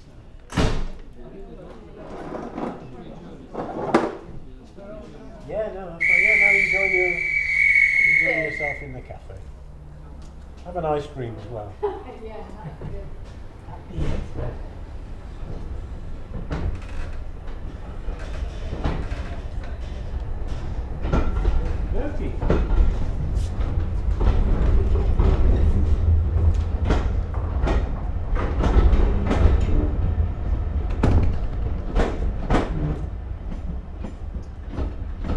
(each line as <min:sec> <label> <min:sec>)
0:06.0 Steam 0:09.0